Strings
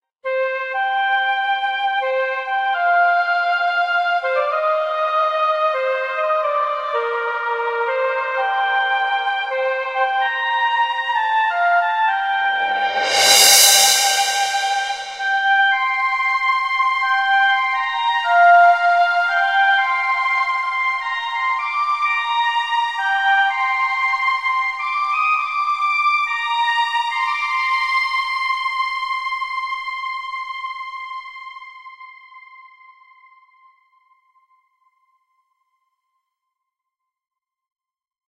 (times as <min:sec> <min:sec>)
0:11.0 0:16.1